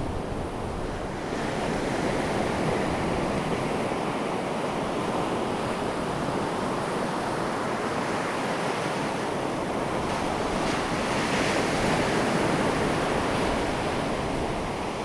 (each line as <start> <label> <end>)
1.3 waves 15.0